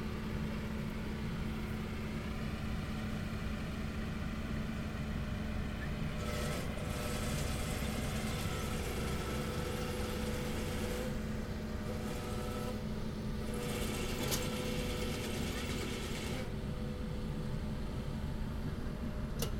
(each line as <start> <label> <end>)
0.0 tractor 19.5